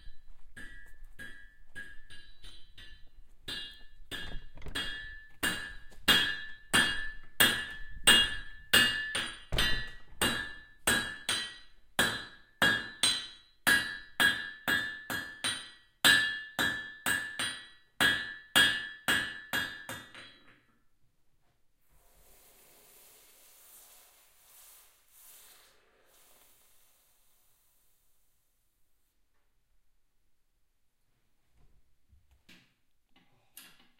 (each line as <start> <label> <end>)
0.6 anvil 20.6